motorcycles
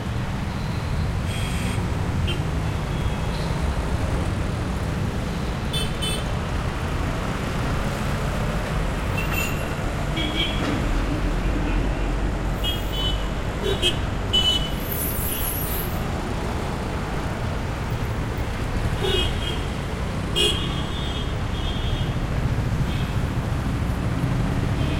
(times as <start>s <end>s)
16.3s 24.9s